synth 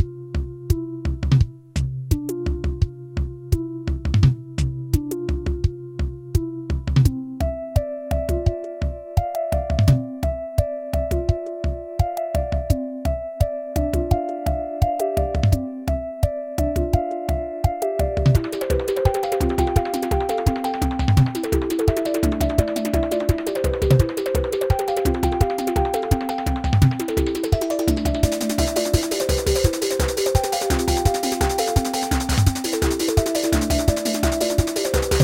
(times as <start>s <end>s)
18.3s 35.2s